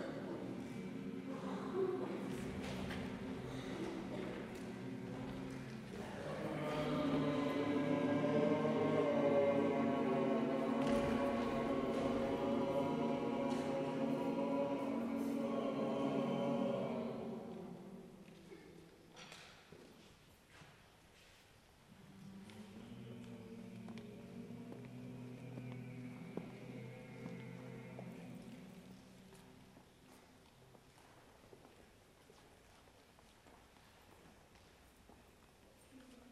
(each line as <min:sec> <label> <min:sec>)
0:04.5 people. You hear parts of them shouting and humming 0:18.0